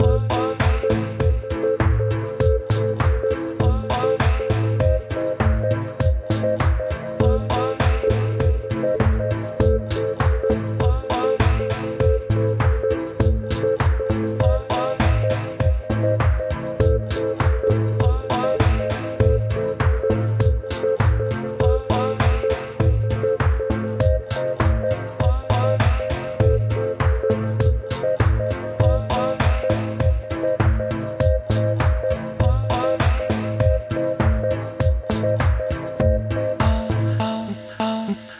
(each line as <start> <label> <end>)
0.0 voice 13.7
0.0 bass 38.3
0.0 synth 38.3
14.3 voice 16.2
16.9 voice 19.8
21.5 voice 23.2
24.4 voice 27.4
28.4 voice 30.4
31.6 voice 34.5
36.6 voice 38.3